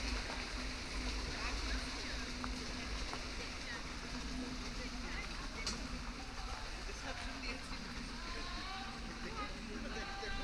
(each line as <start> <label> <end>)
0.0 paddlers 10.4
0.0 pedal boats 10.4
0.0 rowing boats 10.4